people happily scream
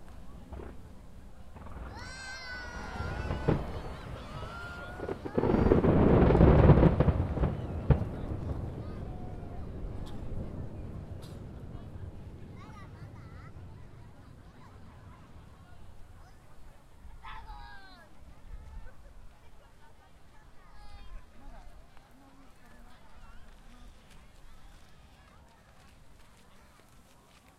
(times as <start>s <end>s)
1.8s 5.9s